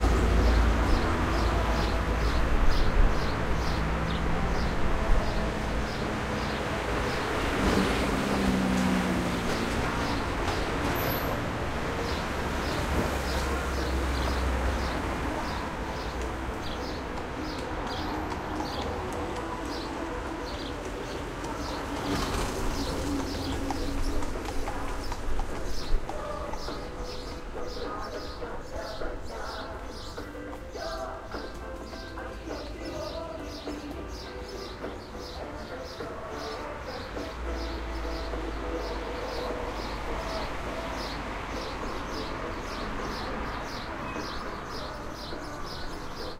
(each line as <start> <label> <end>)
0.0 noise of cars and trucks 46.3
12.0 sparrow tweets 19.0
19.6 sparrow tweets 46.3
23.8 Music from the racetrack 40.3